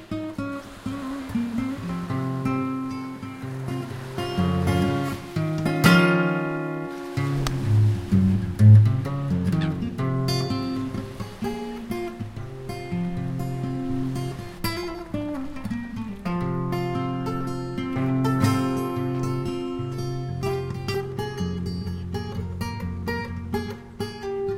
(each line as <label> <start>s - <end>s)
acoustic guitar improvisation 0.0s - 24.5s
sea 0.0s - 24.5s